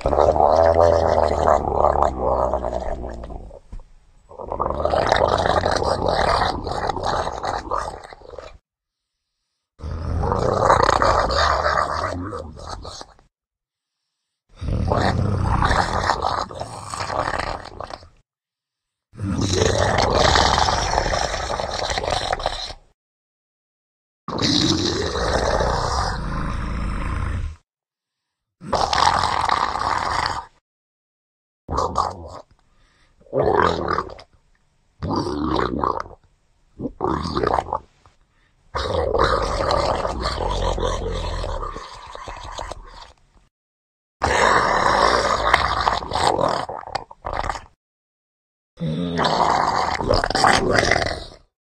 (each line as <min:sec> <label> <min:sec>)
0:00.0 Gurgling monster 0:03.6
0:04.3 Gurgling monster 0:08.6
0:09.8 Gurgling monster 0:13.2
0:14.6 Gurgling monster 0:18.2
0:19.2 Gurgling monster 0:22.8
0:24.3 Gurgling monster 0:27.6
0:28.6 Gurgling monster 0:30.6
0:31.7 Gurgling monster 0:32.5
0:33.2 Gurgling monster 0:34.2
0:35.0 Gurgling monster 0:36.2
0:36.8 Gurgling monster 0:37.8
0:38.8 Gurgling monster 0:43.2
0:44.2 Gurgling monster 0:47.8
0:48.8 Gurgling monster 0:51.5